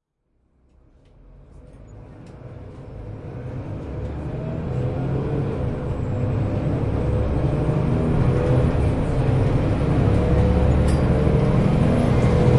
bus 0.0 - 12.5
traffic 0.3 - 12.5

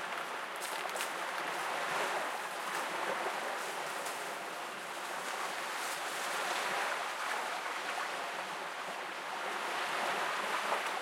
Calm waves 0.0 - 11.0
people walking along the shore 0.0 - 11.0

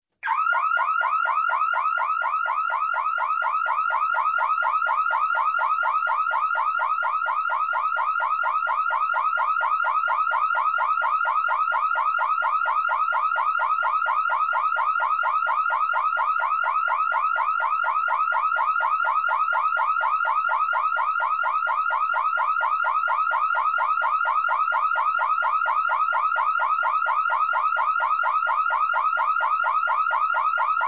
Alarm Car or Home 0.2 - 30.8

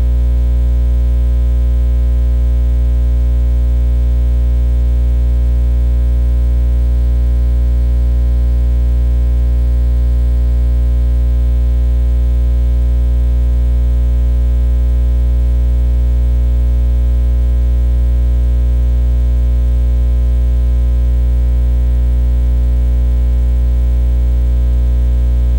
ground hum 24.8 - 25.5

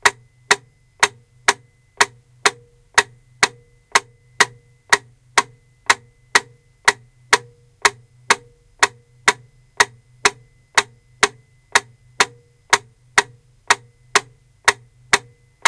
metronome 0.0 - 15.6

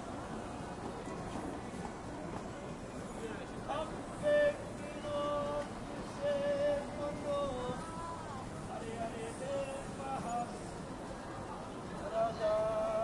people walking talking Korean 0.4 - 13.0

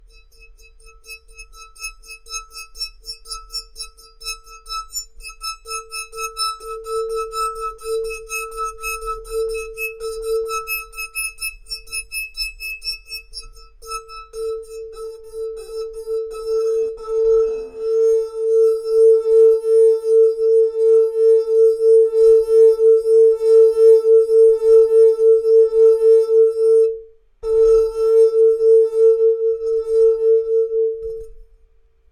flute 13.3 - 31.4

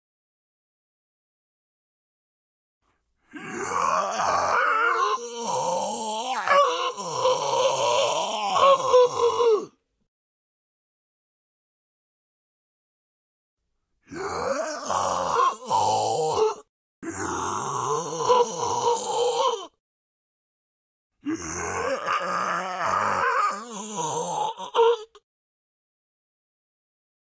Sick Zombie 3.3 - 9.7
Sick Zombie 14.1 - 19.7
Sick Zombie 21.2 - 25.2

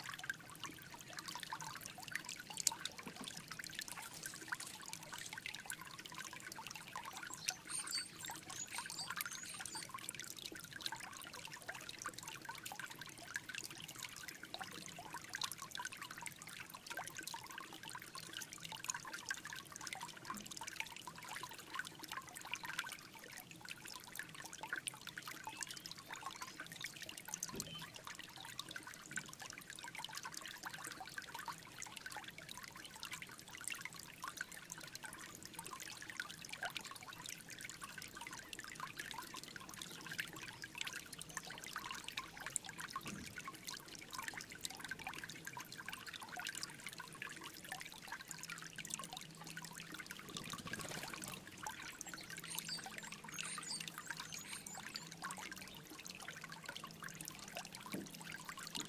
small creek 0.0 - 58.8
birds 6.8 - 10.0
birds 50.4 - 55.8

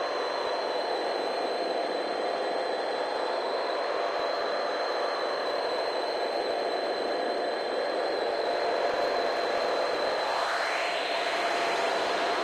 vintage scifi drone 0.0 - 12.4

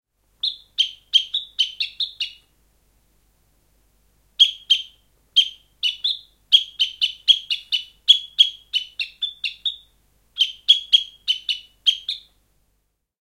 sparrows 0.4 - 2.4
sparrows 4.4 - 9.8
bird call (decoy) 4.4 - 12.3
sparrows 10.4 - 12.3

